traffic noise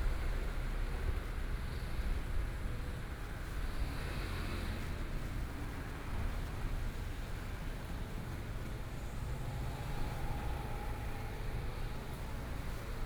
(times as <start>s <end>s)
3.6s 13.0s